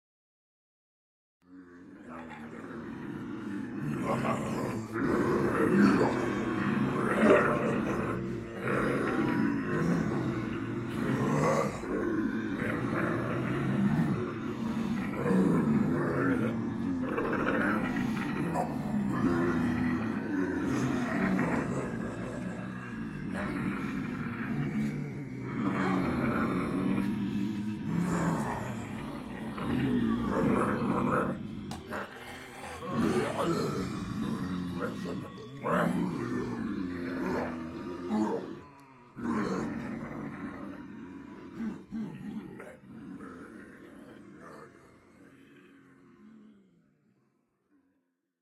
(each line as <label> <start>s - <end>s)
Multiple people pretending to be zombies 1.5s - 47.2s